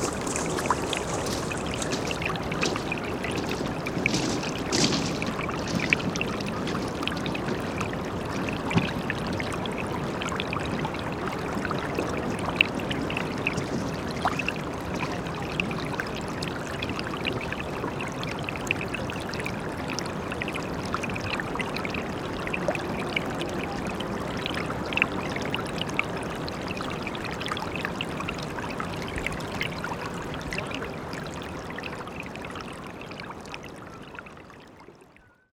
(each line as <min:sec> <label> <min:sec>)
0:00.0 smooth stones 0:07.5
0:00.0 People 0:09.3
0:00.0 little water streaming 0:35.5
0:22.1 People 0:26.5